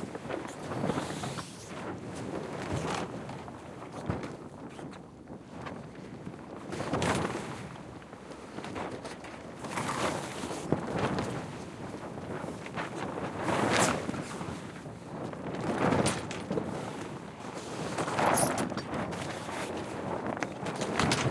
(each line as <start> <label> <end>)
0.0 sail was rarely full and instead flops lazily 21.3